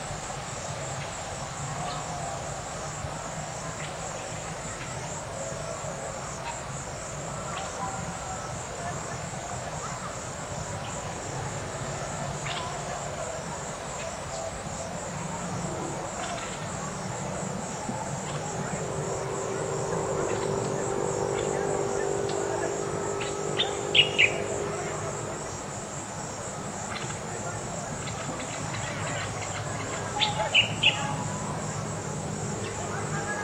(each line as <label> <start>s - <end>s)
crickets 0.0s - 33.4s
cars in the distance 2.5s - 33.4s
birds 13.8s - 25.8s
motorcycles 15.0s - 33.4s
birds 26.4s - 33.4s